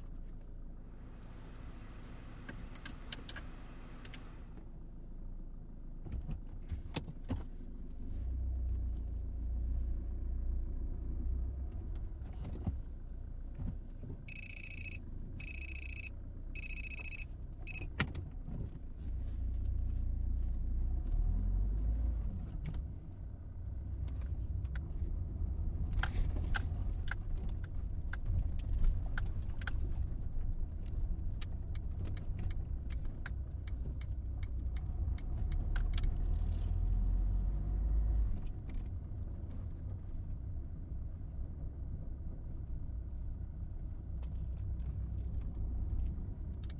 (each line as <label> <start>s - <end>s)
driving off 0.0s - 46.7s
engine start (diesel medium-sized car) 0.0s - 46.7s
indicator 14.3s - 17.9s